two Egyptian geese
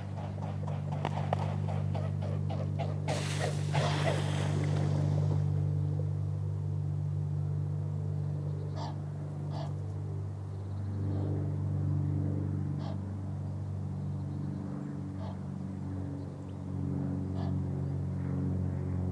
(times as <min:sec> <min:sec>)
0:00.0 0:05.4, 0:08.6 0:09.9, 0:12.8 0:13.1, 0:15.1 0:15.5, 0:17.3 0:17.7